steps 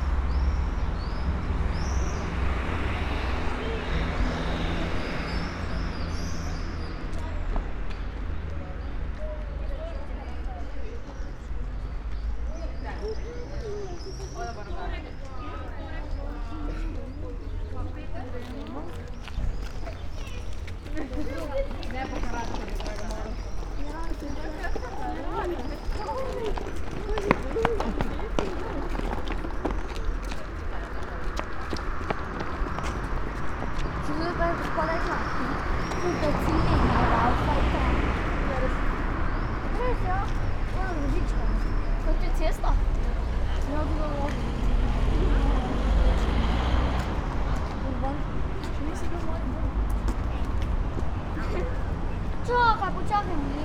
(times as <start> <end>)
16.4 53.5